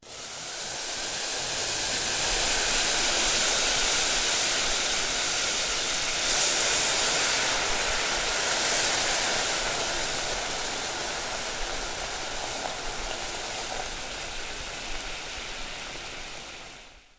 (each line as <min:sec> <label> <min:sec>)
0:00.1 Boiling water gently poured onto a hot metal saucepan 0:16.8